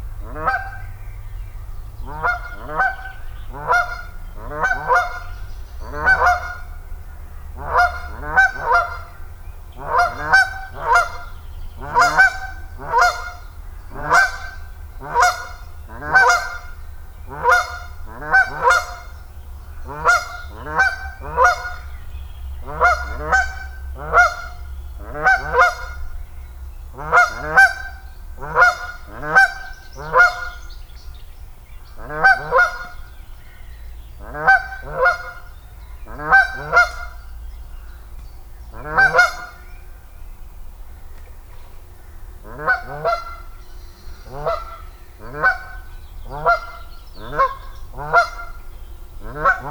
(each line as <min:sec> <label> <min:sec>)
0:00.0 Geese take off from the lake 0:49.7